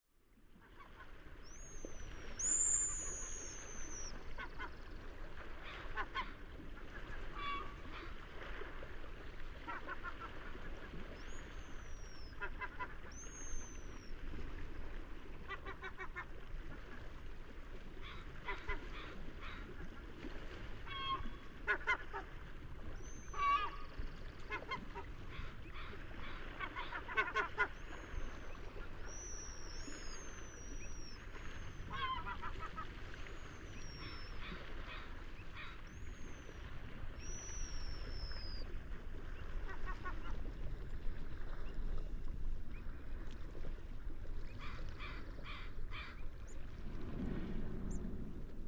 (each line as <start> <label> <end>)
0.4 Sea waves 48.6
5.6 seagulls 8.2
9.6 seagulls 14.1
18.0 seagulls 19.8
20.8 seagulls 22.3
23.0 seagulls 36.6
37.2 seagulls 38.6
39.6 seagulls 40.4
44.6 seagulls 46.2